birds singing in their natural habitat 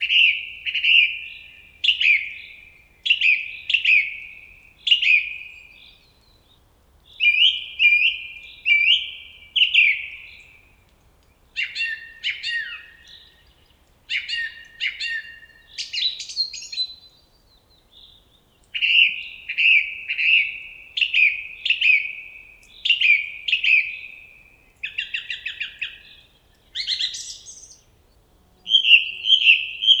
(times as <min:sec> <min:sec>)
0:11.6 0:30.0